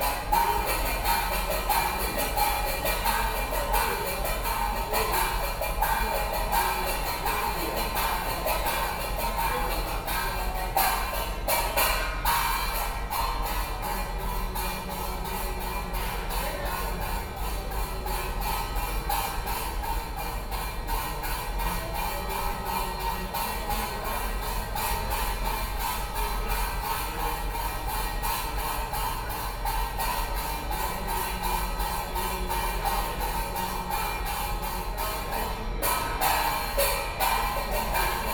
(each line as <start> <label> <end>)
0.0 Taoist chanting 12.6
13.2 Taoist chanting 38.3